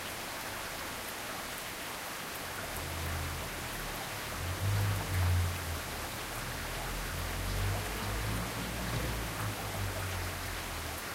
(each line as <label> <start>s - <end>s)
rain 0.0s - 11.1s
cars passing by 2.6s - 11.1s